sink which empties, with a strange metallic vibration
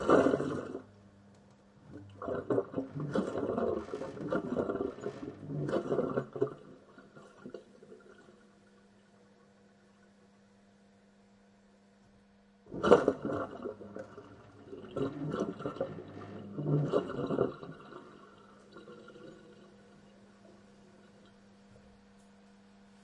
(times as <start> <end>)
12.7 21.6